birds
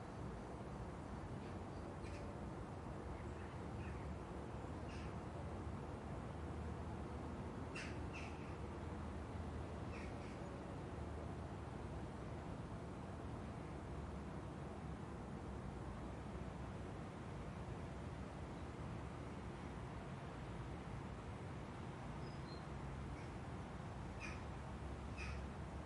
0:01.4 0:02.3, 0:04.8 0:05.2, 0:07.7 0:08.6, 0:09.9 0:10.5, 0:24.2 0:24.5, 0:25.1 0:25.5

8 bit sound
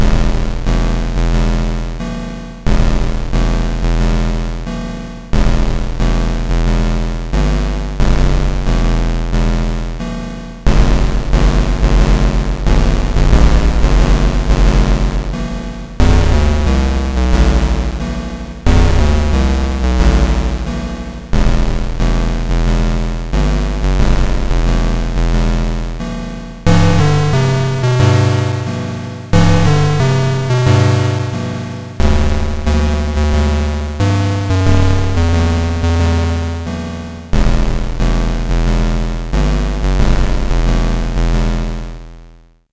0:10.7 0:25.6, 0:26.6 0:39.8

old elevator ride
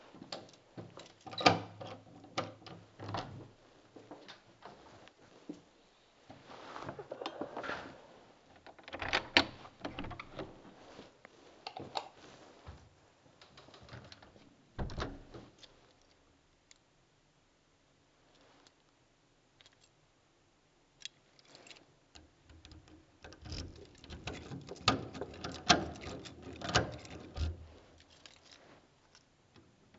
0:06.4 0:11.0, 0:13.5 0:15.6, 0:22.2 0:28.0

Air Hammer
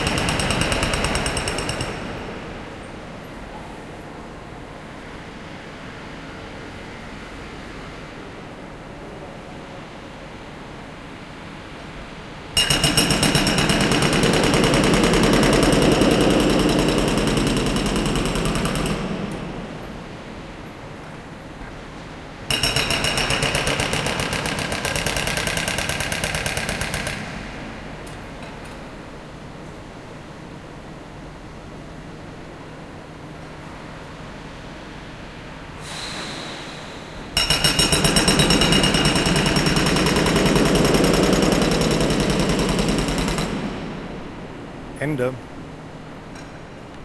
0:00.0 0:02.4, 0:35.8 0:43.8

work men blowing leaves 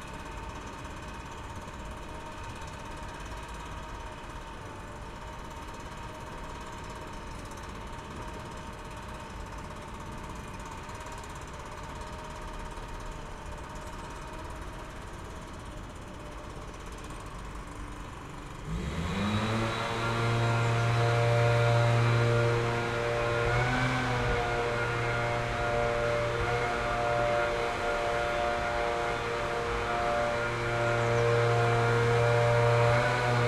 0:15.8 0:33.4

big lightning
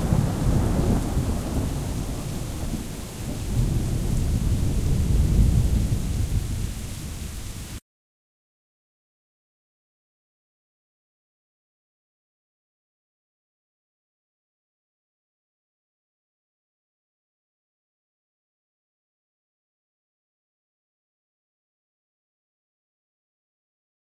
0:00.0 0:07.8

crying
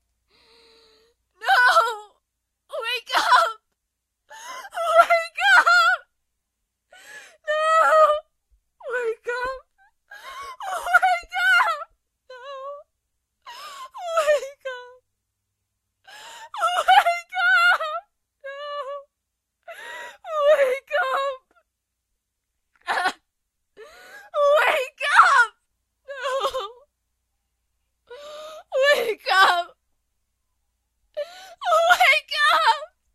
0:08.9 0:12.8, 0:31.2 0:32.9

